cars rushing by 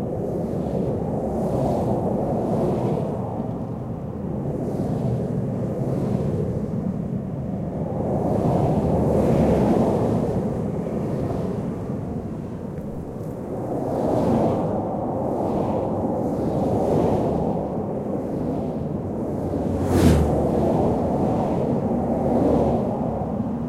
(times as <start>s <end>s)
18.6s 22.9s